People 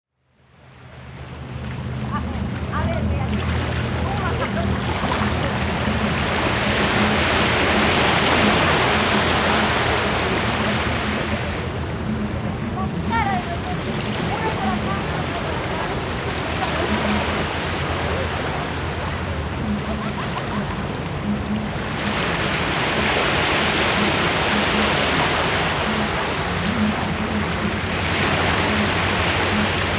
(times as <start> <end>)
1.2 22.4